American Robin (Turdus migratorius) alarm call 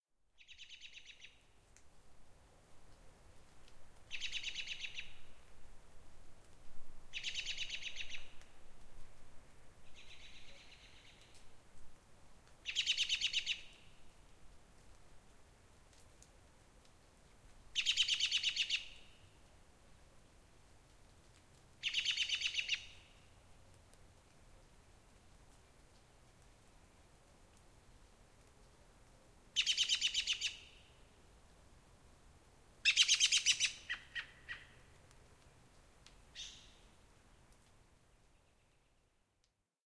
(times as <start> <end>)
21.8 22.9, 29.6 30.8, 32.8 34.7